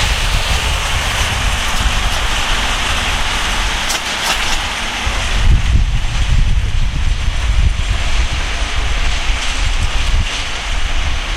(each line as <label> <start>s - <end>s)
steam train 0.0s - 11.3s